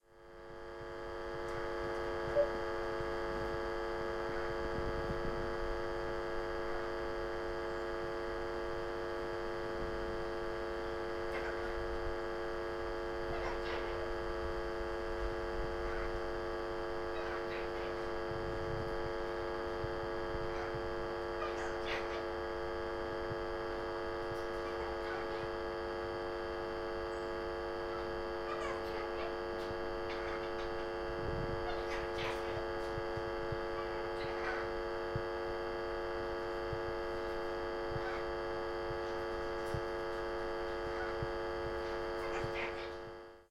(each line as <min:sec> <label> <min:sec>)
0:00.0 Mains hum being picked up by a faulty Tannoy pa speaker 0:43.5